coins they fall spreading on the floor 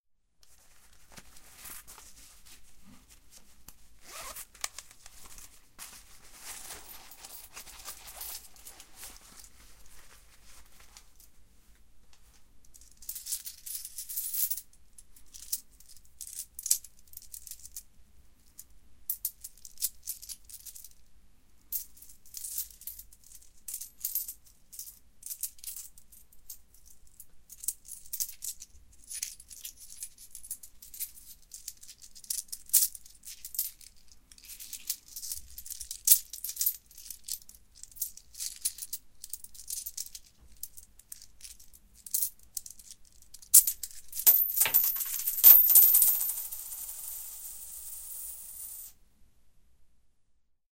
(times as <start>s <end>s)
43.5s 48.9s